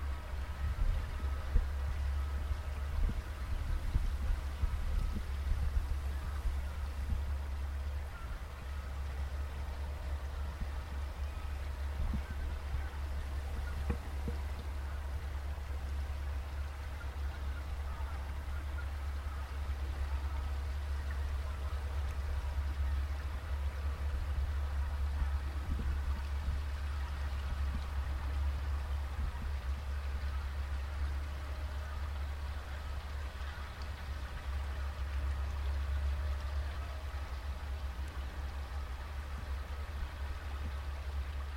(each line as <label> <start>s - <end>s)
boat 0.0s - 41.5s